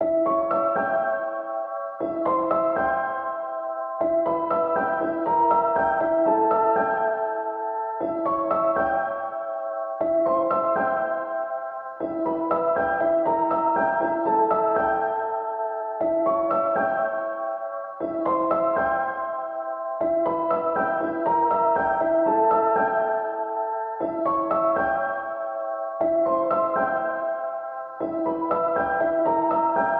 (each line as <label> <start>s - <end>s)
piano 0.0s - 29.9s